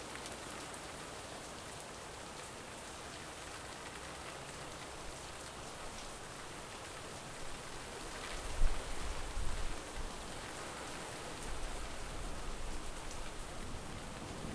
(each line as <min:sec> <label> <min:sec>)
0:00.0 rain 0:14.5